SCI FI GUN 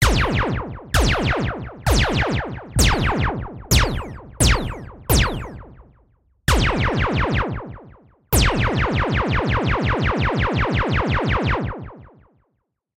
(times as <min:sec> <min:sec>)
0:01.0 0:05.9, 0:06.5 0:07.7, 0:08.4 0:09.5